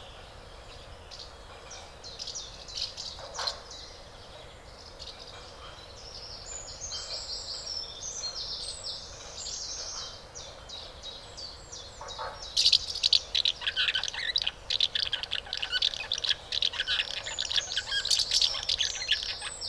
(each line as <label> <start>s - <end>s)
adult birds feed the nestlings 12.0s - 19.6s